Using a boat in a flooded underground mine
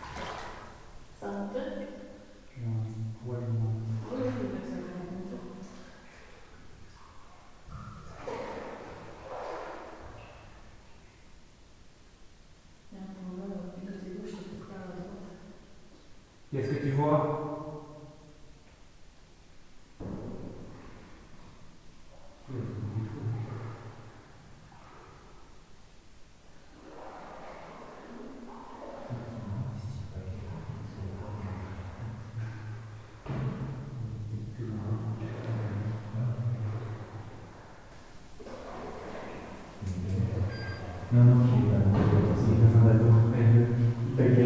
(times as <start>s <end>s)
0.0s 1.2s, 2.9s 10.9s, 26.5s 39.8s